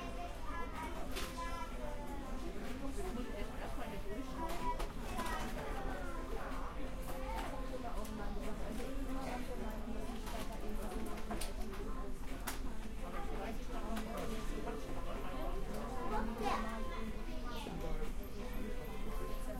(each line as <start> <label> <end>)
0.0 Crowded fast food restaurant 19.5